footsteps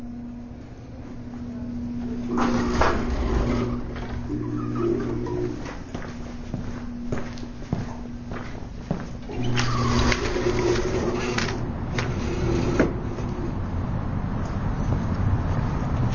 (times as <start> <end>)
1.0 10.8, 14.3 16.1